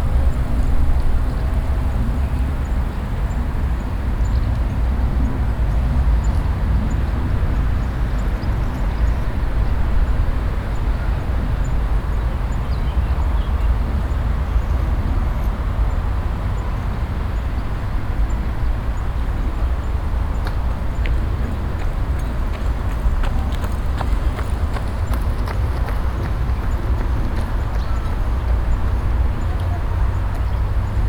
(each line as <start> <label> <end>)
0.0 constant sonorous traffic sound 31.0
17.9 passengers talking and walking by 31.0
19.4 jogger passing by 31.0